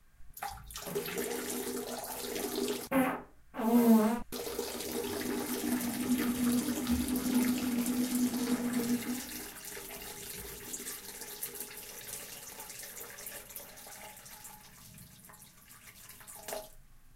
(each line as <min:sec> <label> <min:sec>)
0:02.9 fart 0:04.3